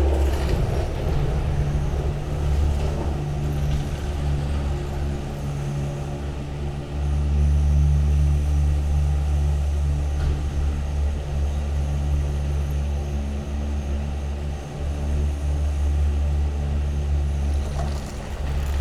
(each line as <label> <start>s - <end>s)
arriving cabins 0.0s - 6.8s
ropeway ground station 0.0s - 18.8s
arriving cabins 17.2s - 18.8s